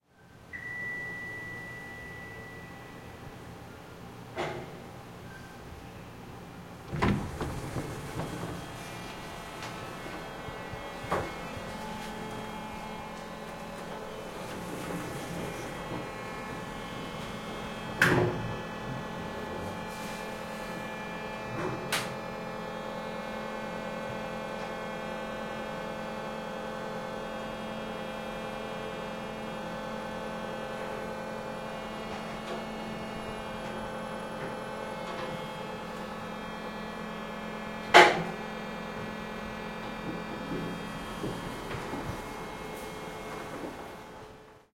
Old & Noisy Elevator 0:00.4 - 0:44.7
door 0:06.9 - 0:08.9

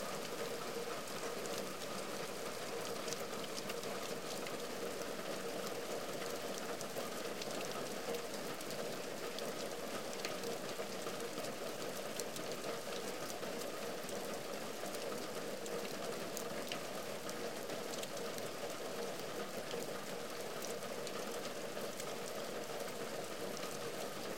Raining on roof 0:00.0 - 0:24.3

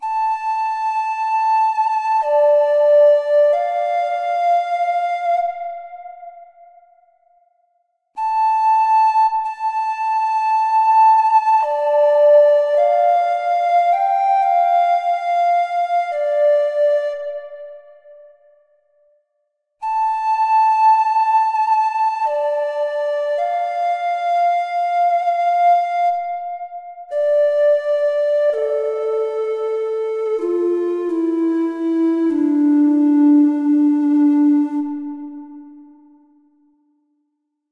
synth flute 0:00.0 - 0:36.7

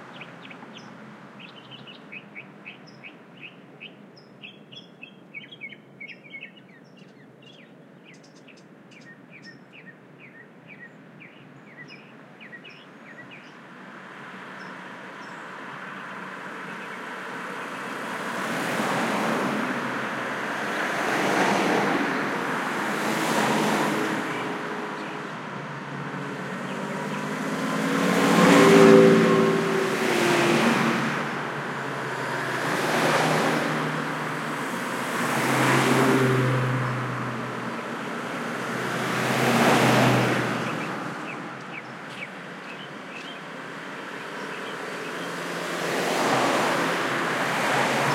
canyon traffic 0:12.7 - 0:48.1

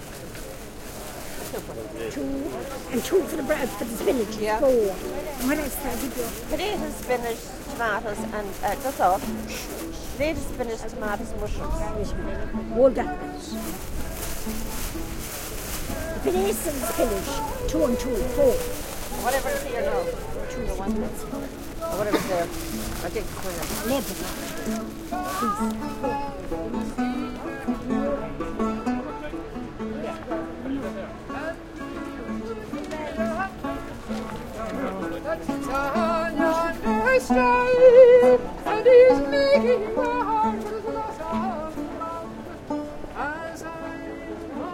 People sell and buy 0:00.0 - 0:44.7
lady busking 0:00.0 - 0:44.7

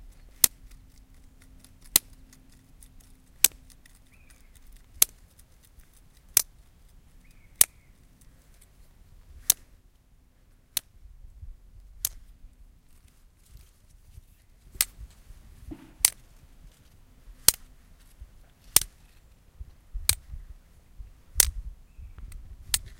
Plastic pen ticking on a rock 0:00.1 - 0:06.6
Plastic pen ticking on a rock 0:21.4 - 0:21.6

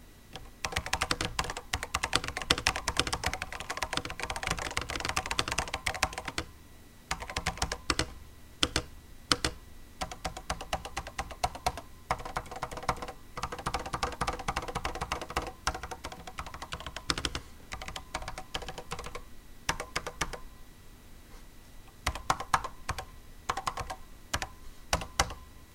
Keyboard Typing Sounds 0:00.4 - 0:06.5
Keyboard Typing Sounds 0:07.1 - 0:20.5
Keyboard Typing Sounds 0:22.0 - 0:25.5

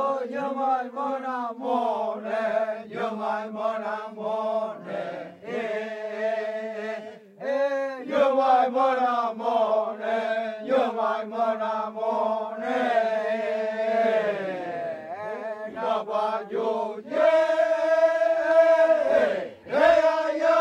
male voices 0:14.5 - 0:16.2

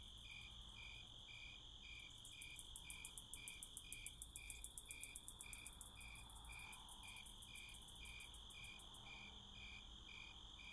crickets 0:00.0 - 0:10.7
other bugs doing their nightsong 0:00.0 - 0:10.7

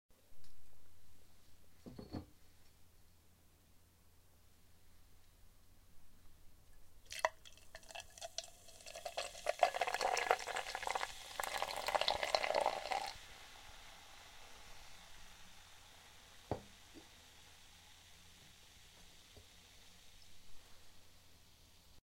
Pouring beer from a glass bottle in to a drinking glass 0:07.1 - 0:13.9

